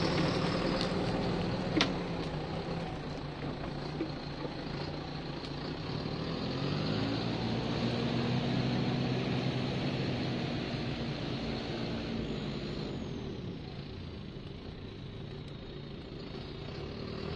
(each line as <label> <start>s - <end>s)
tractor starts up 0.0s - 7.0s
bonfire being stirred by much smaller, large tractor 0.0s - 17.3s
quad bike 0.0s - 17.3s
traffic 0.0s - 17.3s